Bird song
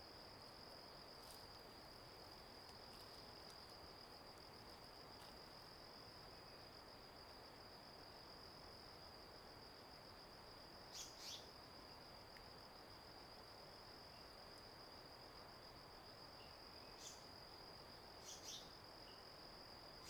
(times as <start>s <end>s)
10.9s 11.5s, 18.2s 18.7s